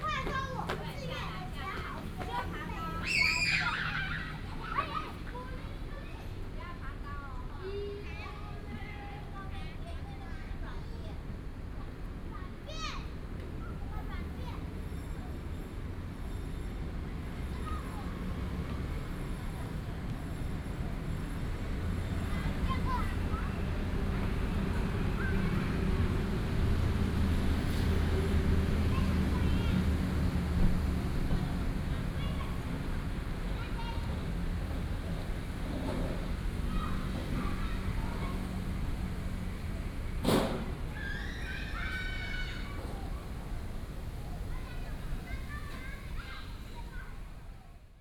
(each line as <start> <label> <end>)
0.0 Traffic Sound 47.6
0.0 Children in playground 48.0